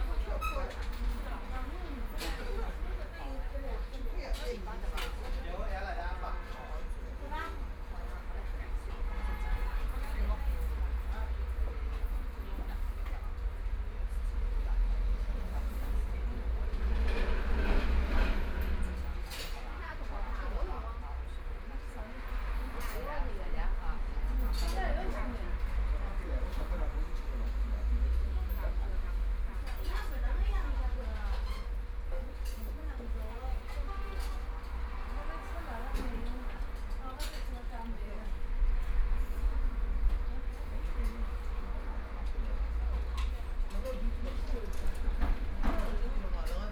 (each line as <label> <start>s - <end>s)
Traffic Sound 4.7s - 46.7s